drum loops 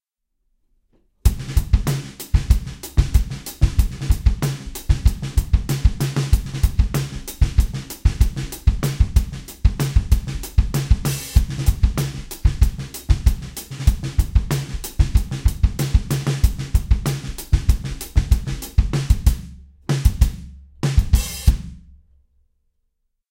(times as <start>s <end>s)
1.3s 19.4s